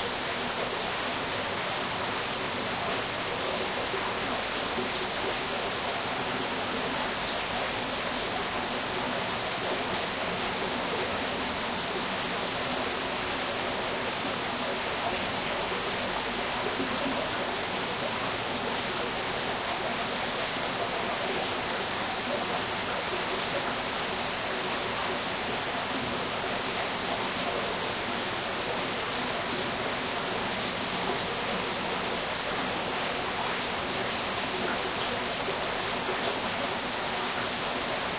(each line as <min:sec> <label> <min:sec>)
0:00.0 Crickets 0:38.1
0:00.0 Stream 0:38.1